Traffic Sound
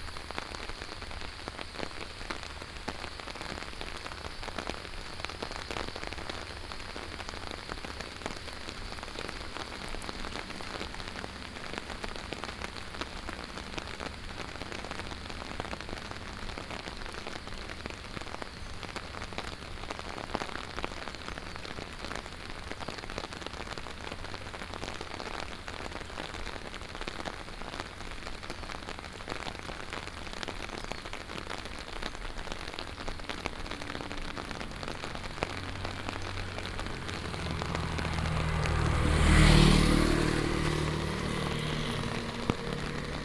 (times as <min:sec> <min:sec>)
0:05.2 0:20.1, 0:31.7 0:43.2